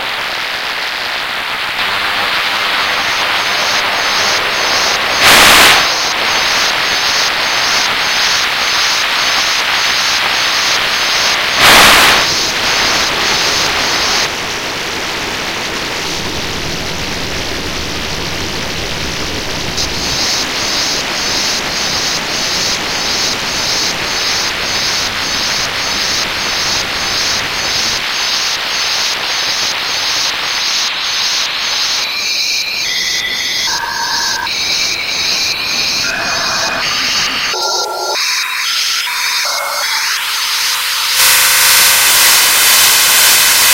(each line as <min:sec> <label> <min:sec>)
0:01.8 Modular Noise Bits 0:43.7